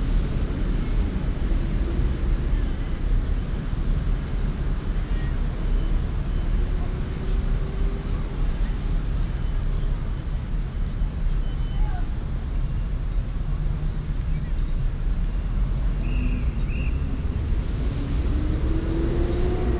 0.0s Traffic Sound 19.7s

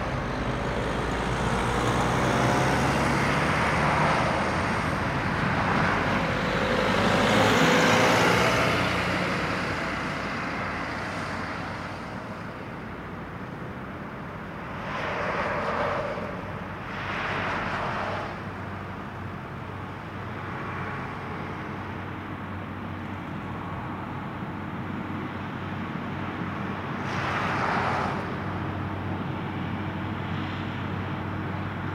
0.0s Cars going away from the parking 13.3s
0.0s other cars and trucks passing by on the road 31.9s

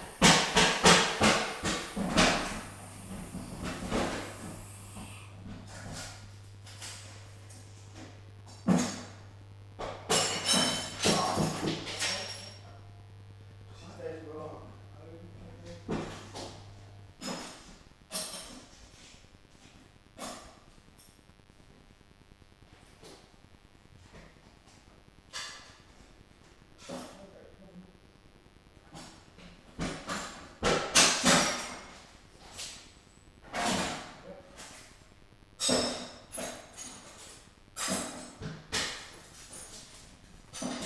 0.0s rhythmic noise pattern 18.1s
0.0s Glazier working 18.4s

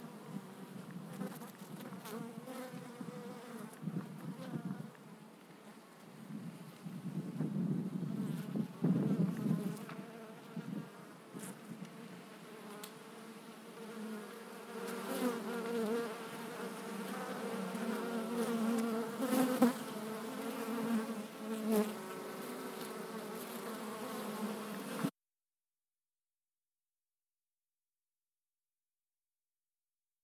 0.0s bees fly 5.9s
7.8s bees fly 25.1s

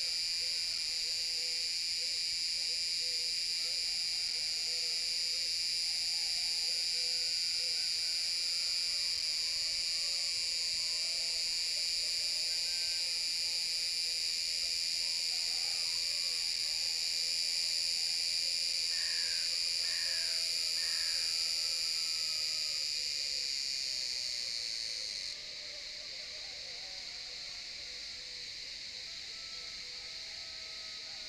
18.5s cicada singing 25.4s

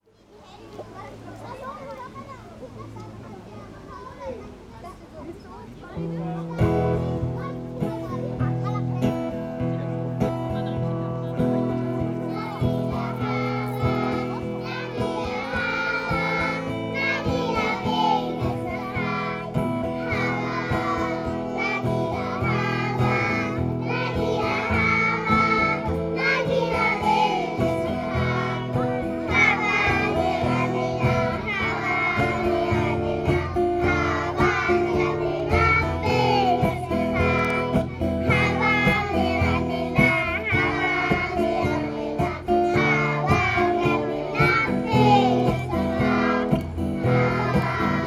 12.1s kindergaren choir performing 48.0s

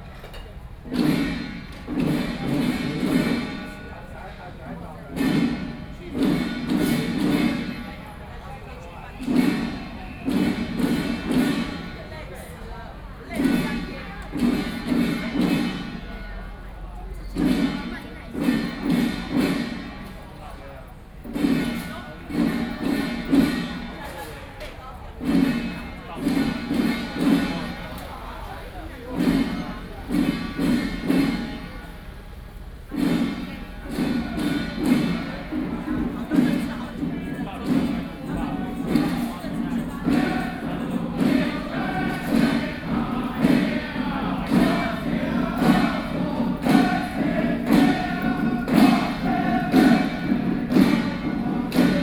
25.2s Traditional musical instruments 52.0s

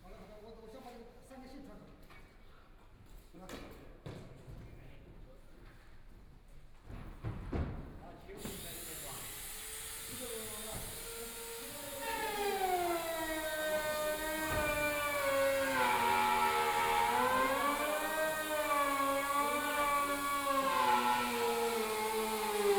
7.0s Erection of walls 22.7s
8.4s Construction workers 22.7s

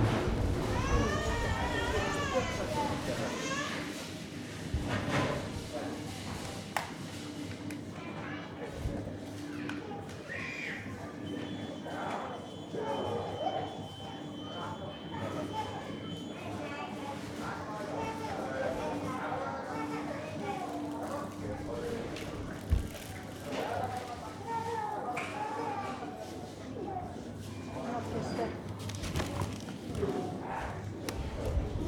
0.0s People are shopping for their last-minute groceries 31.8s

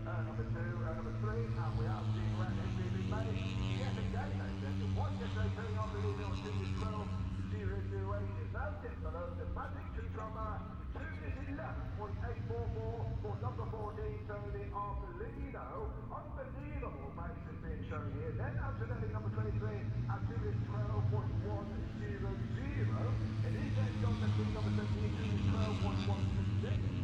0.0s commentary 27.0s
0.0s motorcycle grand prix 27.0s

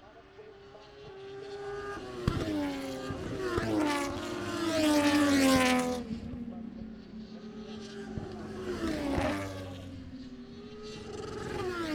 0.0s motorcycle grand prix 11.9s

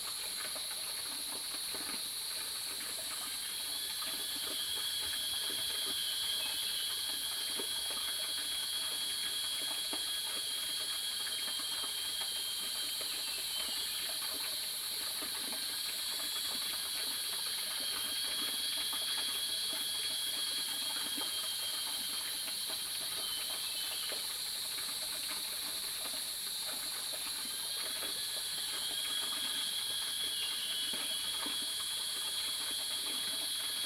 0.0s Cicadas cry 33.8s
0.0s Small streams 33.8s

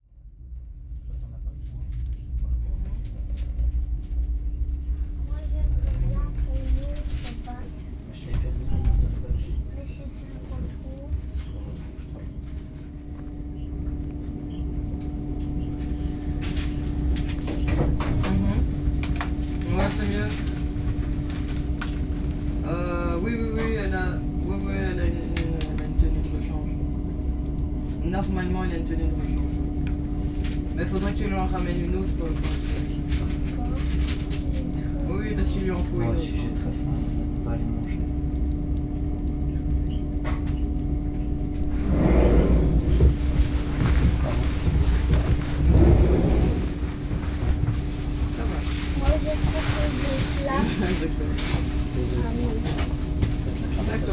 0.0s Father and son talking in the train 54.1s
4.9s Train 12.7s
41.8s Train 53.0s

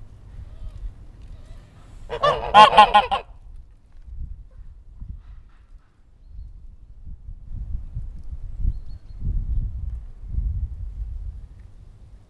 2.1s Loud Goose 3.3s

